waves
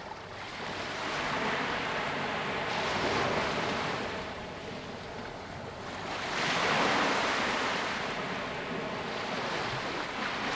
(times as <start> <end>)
5.9 10.5